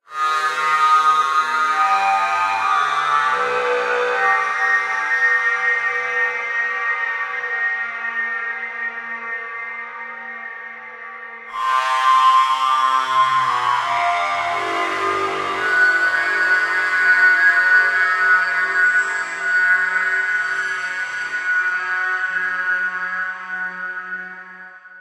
Time-Stretched Electric Guitar 0:11.5 - 0:25.0

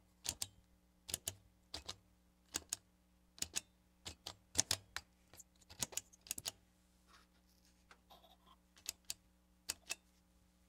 dial 0:00.2 - 0:05.0
dial 0:08.8 - 0:10.1

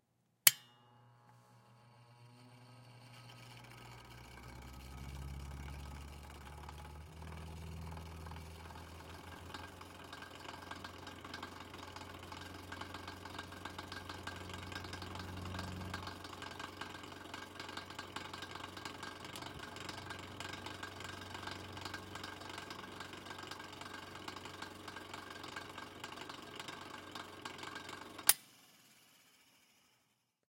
extra switch clicks 0:00.5 - 0:00.8
Antique Fan turned on and off then running 0:00.5 - 0:30.2

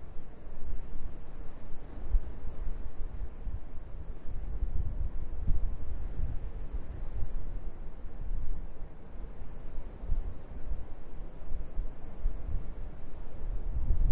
sea 0:00.0 - 0:14.1
wind 0:00.0 - 0:14.1

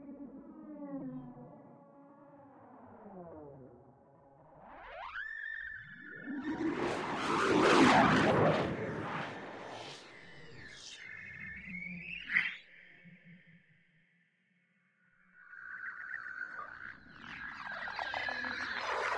drone 0:15.6 - 0:19.1

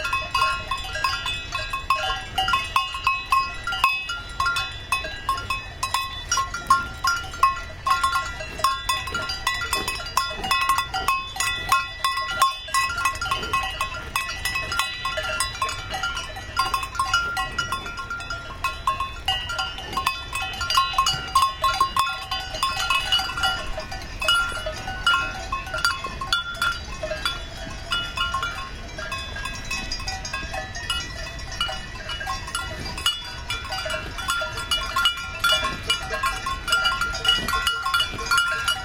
Cowbells 0:00.0 - 0:38.8
Herd of Cows 0:00.0 - 0:38.8

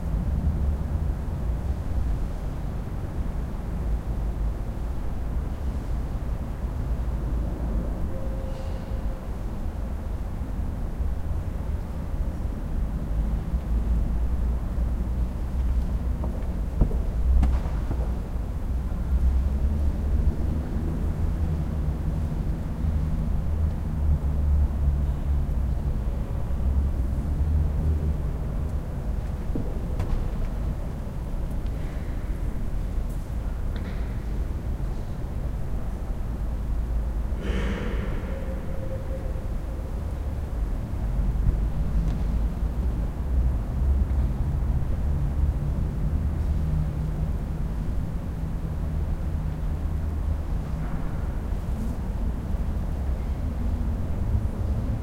Traffic 0:00.0 - 0:55.0

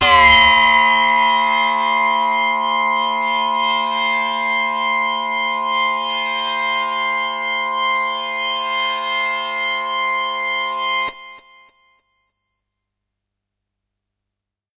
hard, harsh lead sound 0:00.0 - 0:08.6

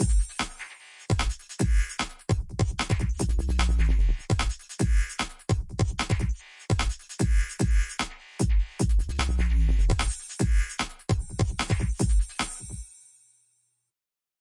breakbeat 0:00.0 - 0:12.9

